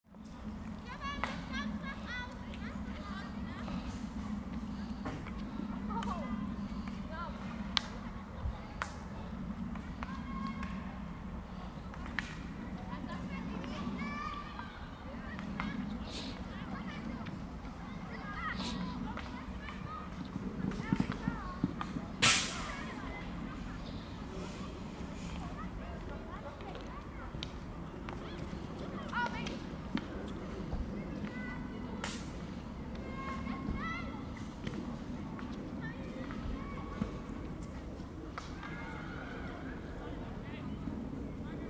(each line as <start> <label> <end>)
0.2 field-hockey 41.3